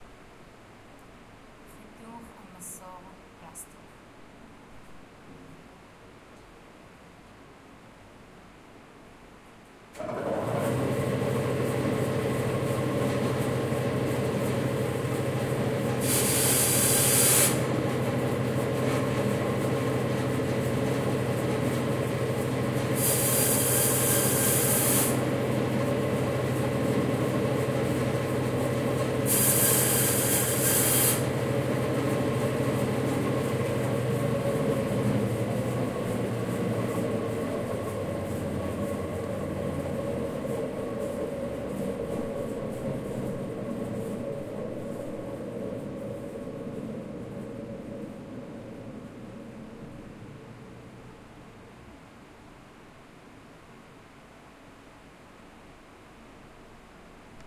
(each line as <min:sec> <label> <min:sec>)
0:23.0 PLasticsaw 0:25.2
0:29.3 PLasticsaw 0:31.3